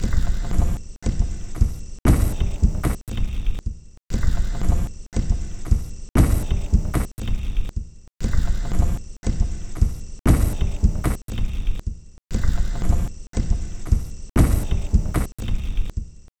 Drum Loop 0:01.5 - 0:03.2
Drum Loop 0:05.6 - 0:07.4
Drum Loop 0:08.6 - 0:11.8
Drum Loop 0:12.7 - 0:15.9

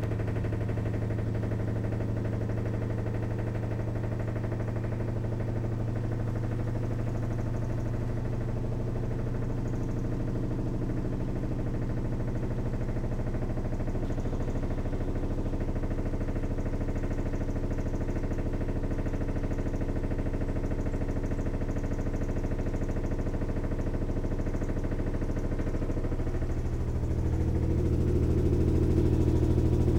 washing machine centrifugation phase 0:12.9 - 0:29.9

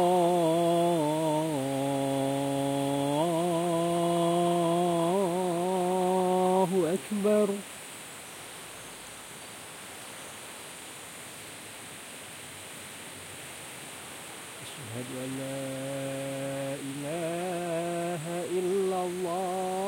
adhan 0:00.0 - 0:07.6
river 0:00.0 - 0:19.8
adhan 0:14.6 - 0:19.8

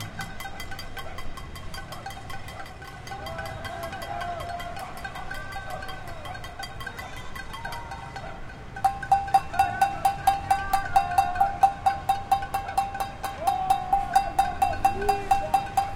people bang pans 0:00.0 - 0:08.2
people bang pans 0:08.8 - 0:15.9

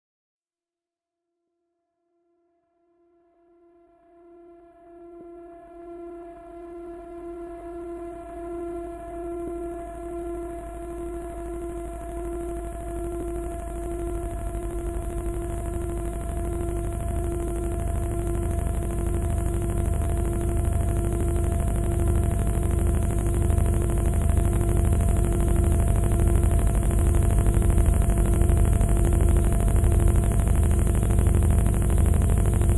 erroneous glitching 0:13.1 - 0:32.7

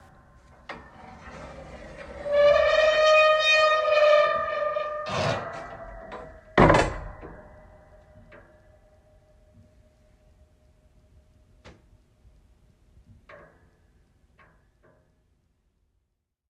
creaking attic door 0:00.0 - 0:09.0

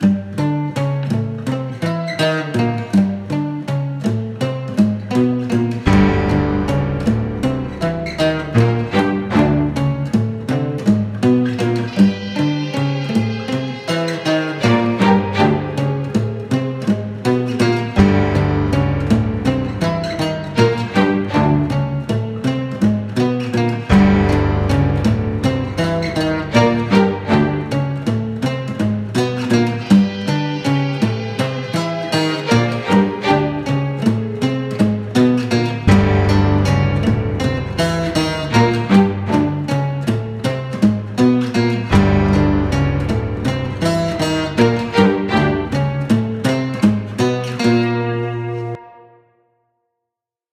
melody I made on acoustic guitar 0:00.0 - 0:49.2
strings 0:05.5 - 0:48.8
piano-chord 0:05.9 - 0:10.2
bass-note 0:05.9 - 0:10.4
bass-note 0:17.9 - 0:22.2
piano-chord 0:18.0 - 0:22.1
piano-chord 0:23.8 - 0:28.1
bass-note 0:23.9 - 0:28.2
piano-chord 0:35.8 - 0:39.8
bass-note 0:35.8 - 0:39.9
piano-chord 0:41.9 - 0:46.1
bass-note 0:41.9 - 0:46.2

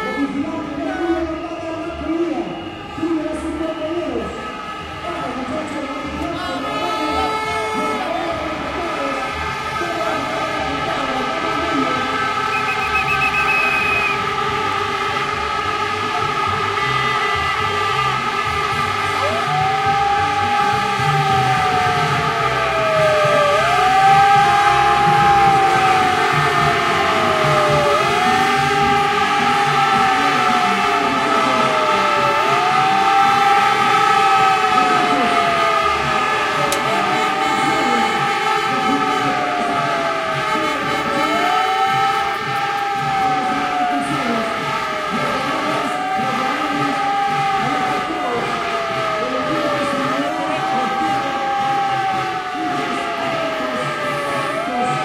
crowd 0:00.0 - 0:55.0
sirenas de megáfono 0:00.0 - 0:55.0
vuvuzelas in crecendo 0:00.0 - 0:55.0

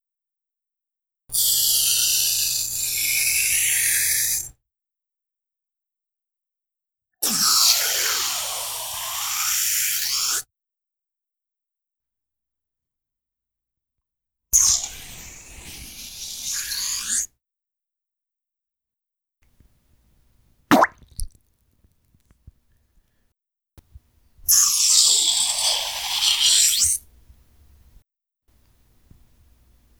syringe sucking water 0:20.7 - 0:21.3
squirt 0:20.7 - 0:21.4

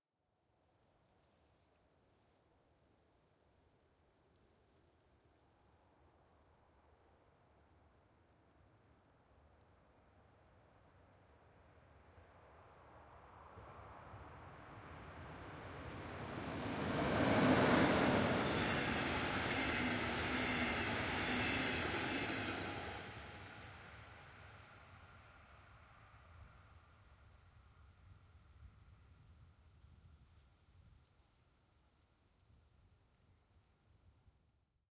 passenger train passing 0:13.6 - 0:25.4

